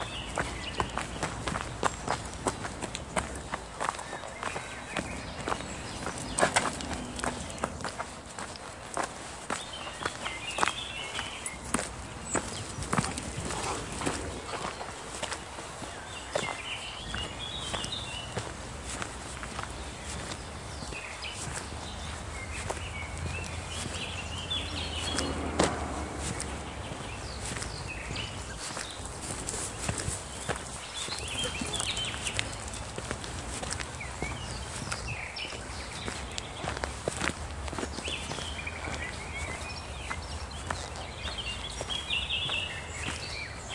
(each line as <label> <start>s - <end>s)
birds sing 0.0s - 43.7s
footsteps through the woods 0.0s - 43.7s